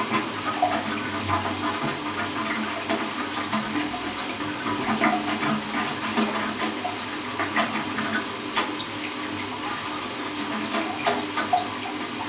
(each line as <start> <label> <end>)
0.0 broken flush 12.2